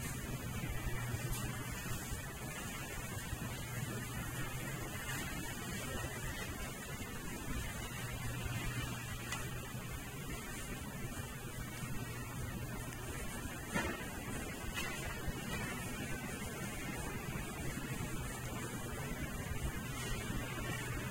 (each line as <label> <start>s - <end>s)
checkout 0.0s - 21.1s
clunk 13.7s - 14.1s